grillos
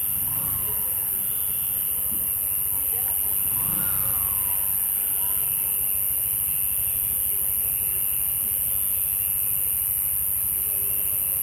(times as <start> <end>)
0.0 5.4